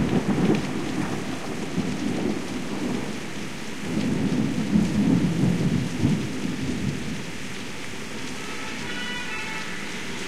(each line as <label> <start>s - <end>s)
thunderstorm 0.0s - 7.5s
rain on window 0.0s - 10.2s
old style english fire engine siren 8.2s - 10.2s